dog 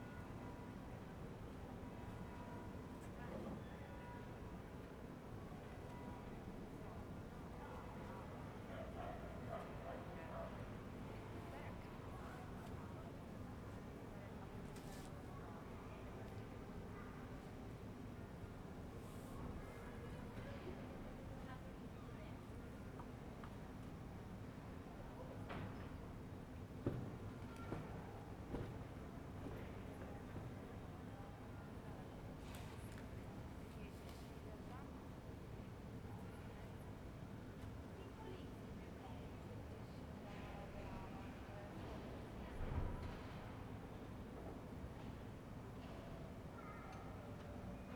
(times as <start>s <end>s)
8.7s 10.6s